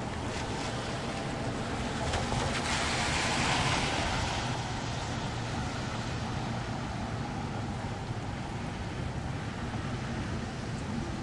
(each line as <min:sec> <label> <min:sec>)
0:00.0 Planes pass overhead 0:11.2
0:00.0 Vehicles passing in the rain 0:11.2
0:00.0 rain 0:11.2
0:00.0 trains 0:11.2
0:00.0 trucks 0:11.2